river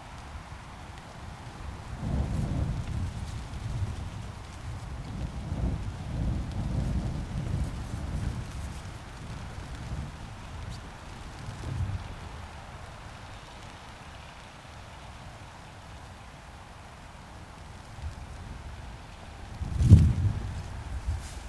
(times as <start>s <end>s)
6.9s 21.4s